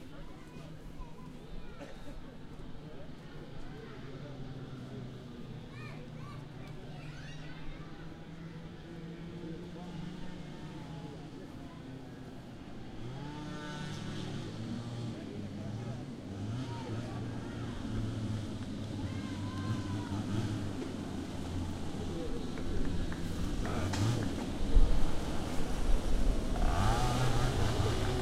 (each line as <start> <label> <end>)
0.0 voice 12.2
0.0 children 12.3
0.0 go karts 28.2
16.5 children 26.1
18.8 voice 25.9